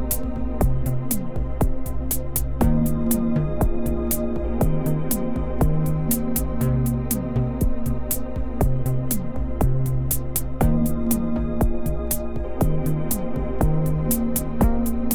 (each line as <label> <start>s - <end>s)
e-music fragment 0.0s - 15.1s